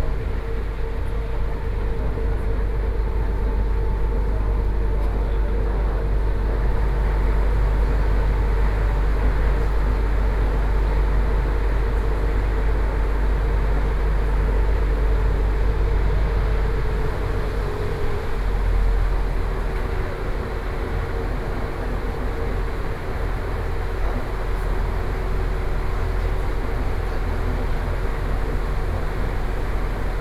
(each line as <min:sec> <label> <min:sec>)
0:00.0 inside the Trains 0:30.2